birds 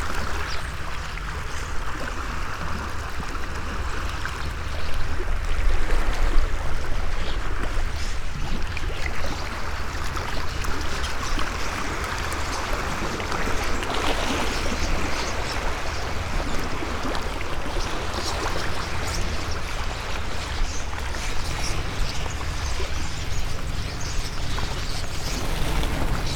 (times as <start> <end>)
7.2 26.3